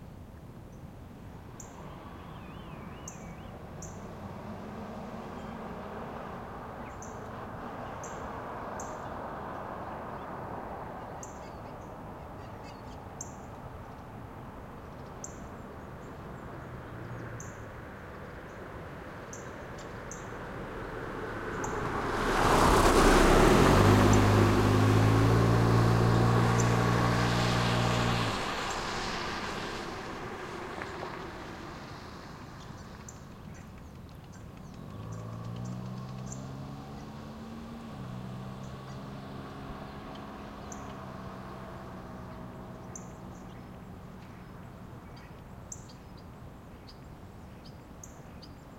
passing car 1.3 - 48.7
distant bassy skyline 20.0 - 35.5

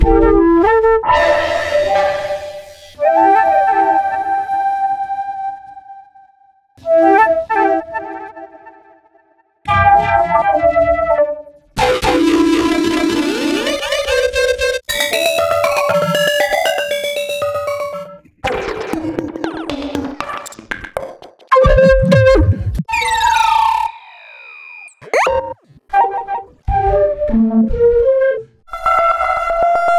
glitchy heavily processed natural flute sounds 1.2 - 5.6
glitchy heavily processed natural flute sounds 11.8 - 18.1

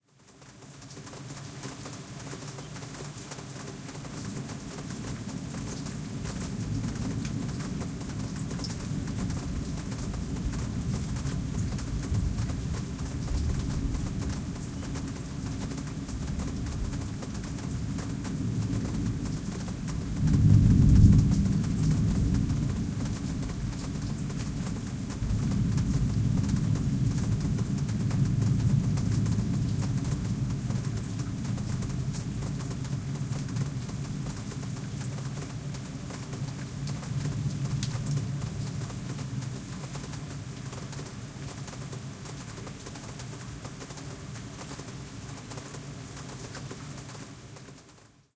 Rain falling 0.0 - 48.3
thunder 18.6 - 32.1

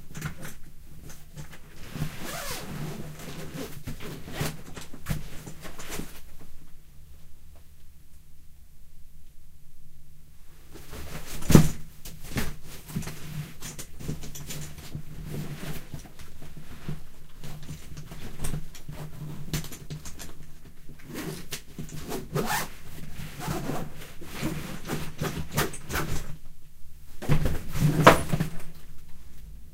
Zipping a full suitcase 1.9 - 4.6
Zipping a full suitcase 22.0 - 22.7
Zipping a full suitcase 23.4 - 26.0

